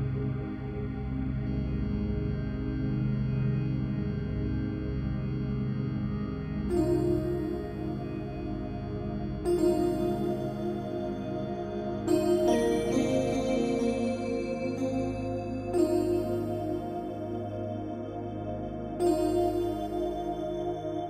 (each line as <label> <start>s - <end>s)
synth 6.7s - 21.0s